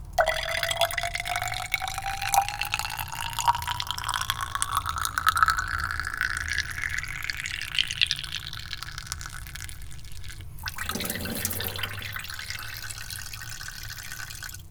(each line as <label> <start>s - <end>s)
glass beaker small filling with water 10.5s - 14.6s